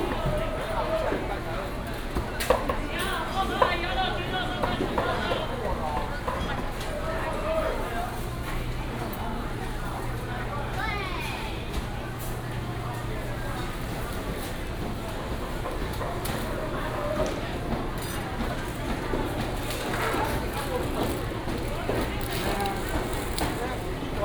Walking in the traditional market 0.0 - 24.2

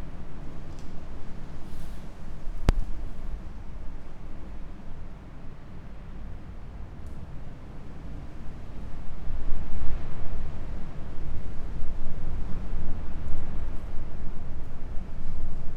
strong wind all around 0.0 - 15.7

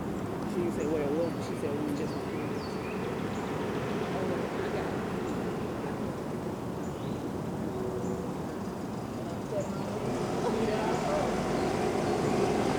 birds 0.6 - 5.6
birds 6.8 - 12.7
golf carts traveling around the bend 8.3 - 12.7
cars 8.6 - 12.7

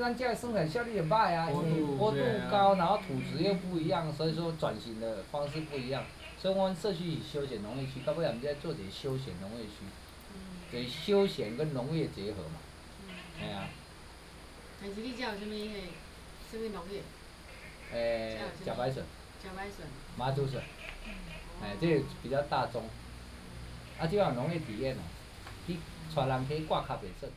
Hostel owners Introduce himself 0.0 - 10.1
Frogs sound 0.0 - 27.3
Hostel owners Introduce himself 10.7 - 14.9
Hostel owners Introduce himself 15.8 - 20.8
Hostel owners Introduce himself 21.4 - 27.3

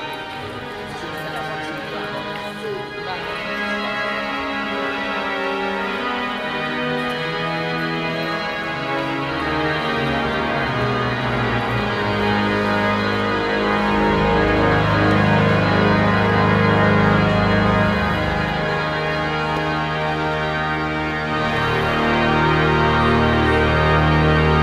Organ 0.0 - 24.6

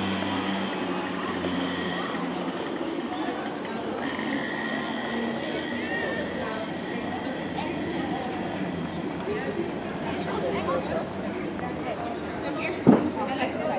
Escalator doing some big noises 0.0 - 10.6
street musicians acting a automatic harmonium 0.0 - 13.7
succession of tramway passages 0.0 - 13.7

